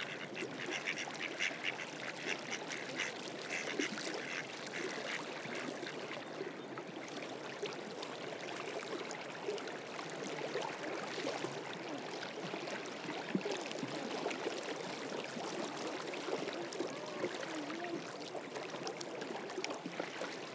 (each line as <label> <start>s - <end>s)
waves 0.0s - 20.5s
Ducks swimming 0.0s - 6.5s
Ducks swimming 14.9s - 20.5s